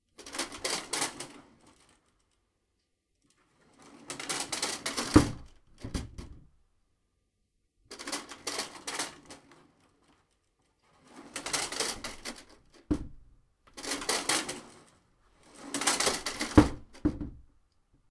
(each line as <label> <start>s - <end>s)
old interior sliding door on rollers 0.2s - 2.5s
old interior sliding door on rollers 3.2s - 6.6s
old interior sliding door on rollers 7.9s - 17.6s